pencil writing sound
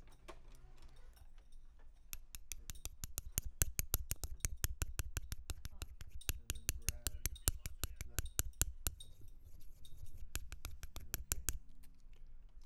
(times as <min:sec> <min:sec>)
0:02.1 0:11.7